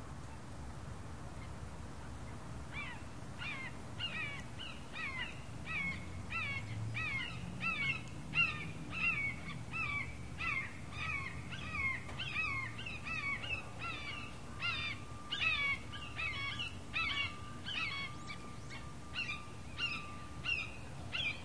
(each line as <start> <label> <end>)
2.8 screeching hawk 21.4